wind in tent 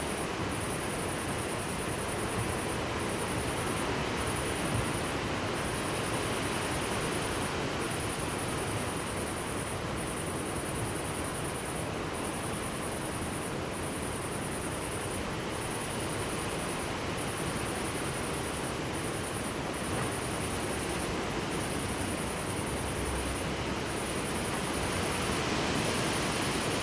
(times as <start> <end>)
14.9 26.8